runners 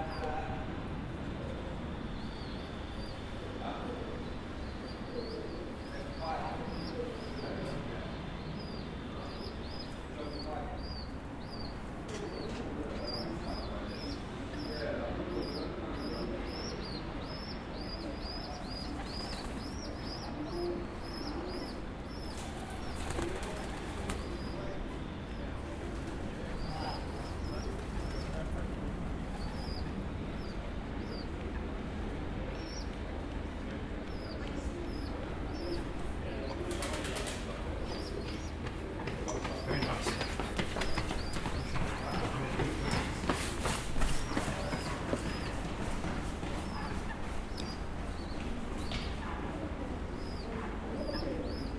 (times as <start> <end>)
38.2 48.5